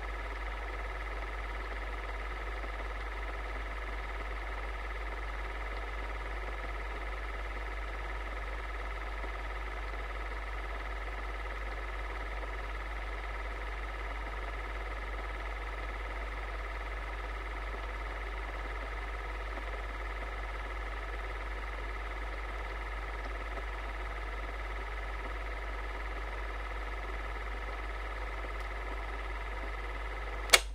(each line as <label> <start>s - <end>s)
projector 22.6s - 30.7s